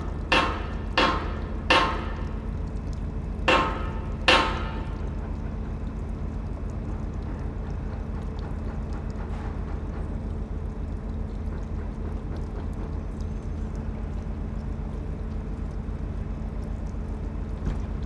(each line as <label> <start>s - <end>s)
water drips from a hydrant 0.0s - 18.0s